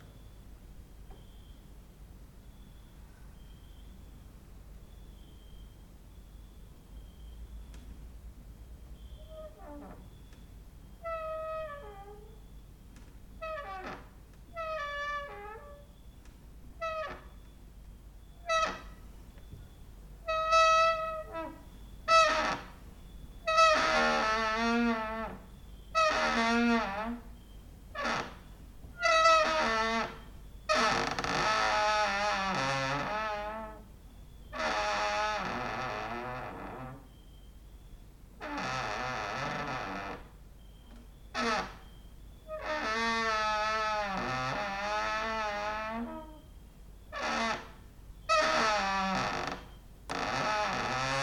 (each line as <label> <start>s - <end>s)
cricket outside 1.1s - 1.8s
cricket outside 2.4s - 12.7s
creaking with wooden doors 9.0s - 17.6s
cricket outside 13.4s - 51.2s
creaking with wooden doors 18.2s - 37.2s
creaking with wooden doors 38.4s - 51.2s